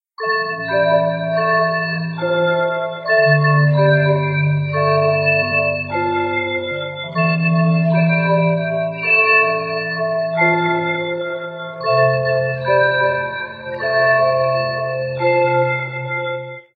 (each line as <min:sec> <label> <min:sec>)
0:00.2 tone 0:16.7